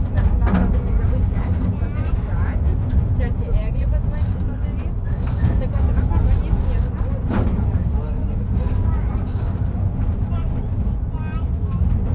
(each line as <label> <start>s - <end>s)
tourist train returns to trainstation 0.0s - 12.1s